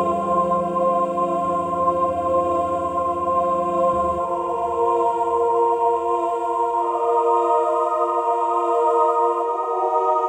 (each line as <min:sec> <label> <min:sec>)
0:00.0 choir 0:10.2